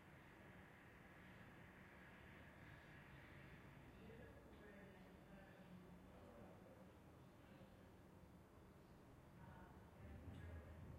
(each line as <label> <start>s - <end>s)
television sound coming from closed apartments 0.1s - 10.9s